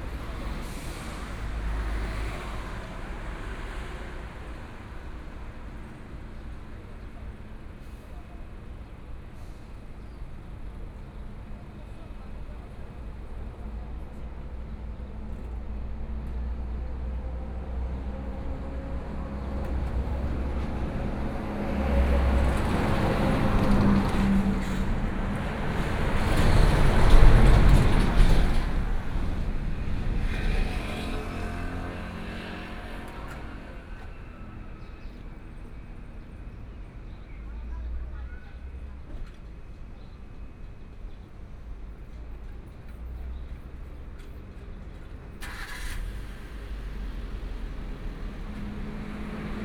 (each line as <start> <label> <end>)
11.8 Traffic Sound 49.6